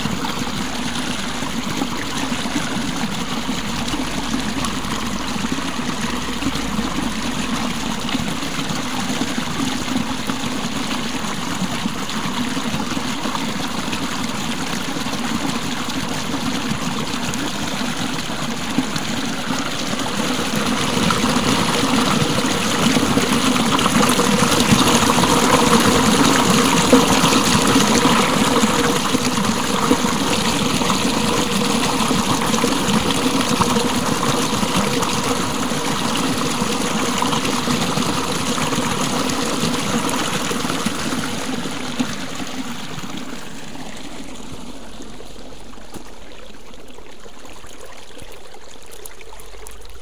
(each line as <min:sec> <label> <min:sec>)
0:00.0 water in channel 0:50.0